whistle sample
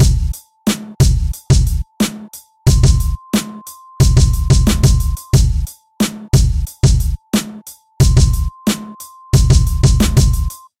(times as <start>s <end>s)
2.7s 5.7s, 8.0s 10.8s